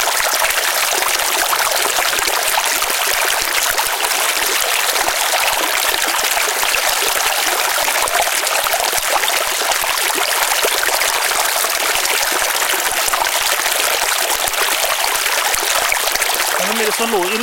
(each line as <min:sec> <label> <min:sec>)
0:00.0 Bubble of a small stream or brook 0:17.4